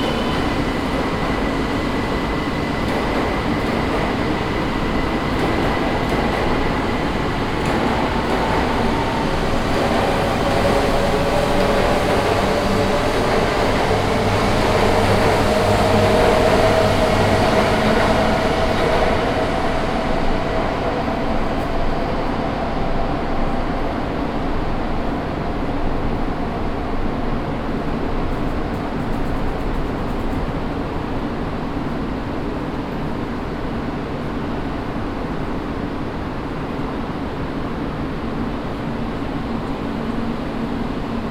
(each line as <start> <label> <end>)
0.0 trains passing by and arriving 41.3